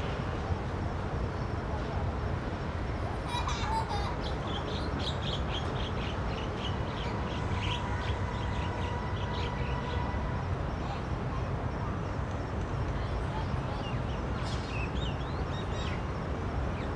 Child and mother 3.0 - 5.0

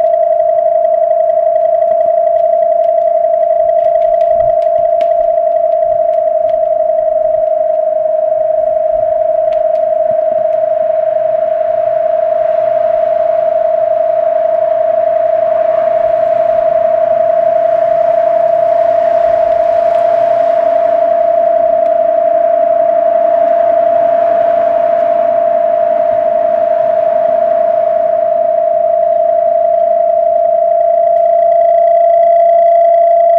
sound installation 0.0 - 12.1
sound installation 28.9 - 33.3

